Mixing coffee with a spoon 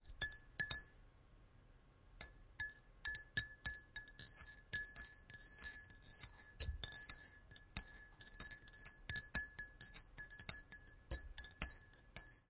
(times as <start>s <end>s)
2.6s 12.4s